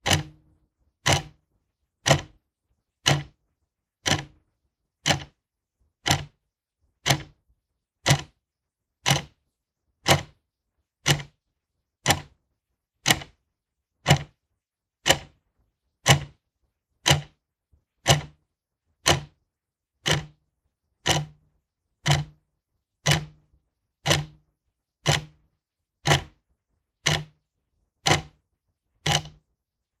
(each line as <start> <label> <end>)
0.0 wall-clock ticking away 0.4
1.0 wall-clock ticking away 1.3
3.1 wall-clock ticking away 3.3
4.0 wall-clock ticking away 4.3
5.0 wall-clock ticking away 5.3
6.1 wall-clock ticking away 6.3
7.1 wall-clock ticking away 7.3
9.1 wall-clock ticking away 9.3
16.1 wall-clock ticking away 16.3
17.1 wall-clock ticking away 17.3
18.1 wall-clock ticking away 18.3
19.1 wall-clock ticking away 19.3
20.1 wall-clock ticking away 20.4
21.1 wall-clock ticking away 21.4
22.0 wall-clock ticking away 22.4
23.0 wall-clock ticking away 23.4
24.1 wall-clock ticking away 24.4
25.1 wall-clock ticking away 25.3
26.1 wall-clock ticking away 26.3
27.0 wall-clock ticking away 27.3
28.1 wall-clock ticking away 28.3
29.1 wall-clock ticking away 29.4